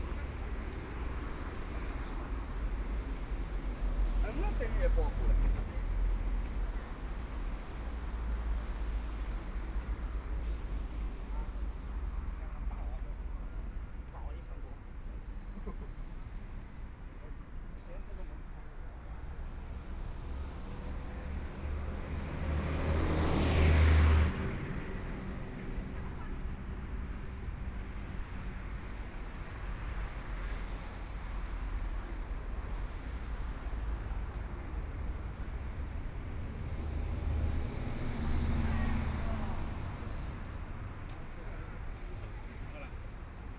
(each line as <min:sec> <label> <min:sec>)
0:00.0 traffic sound 0:43.5